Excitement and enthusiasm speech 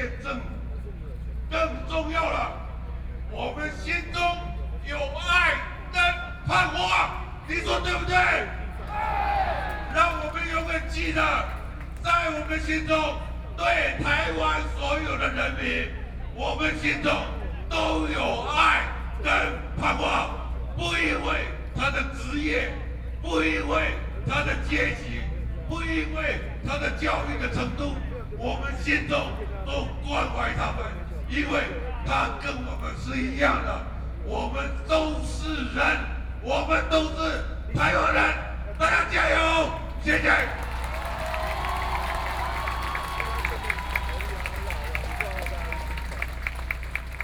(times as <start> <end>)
3.3 22.8, 37.9 47.2